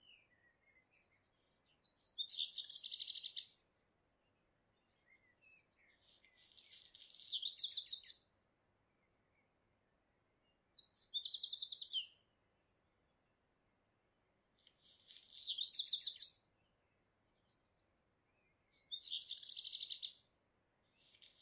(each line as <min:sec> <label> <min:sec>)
0:00.0 blackbird 0:09.6
0:00.0 early bird sings its song on the roof 0:21.4
0:10.2 blackbird 0:12.4
0:14.6 blackbird 0:21.4